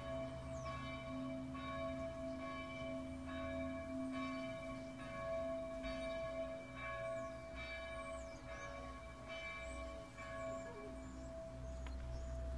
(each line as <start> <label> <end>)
0.0 Church bells 12.5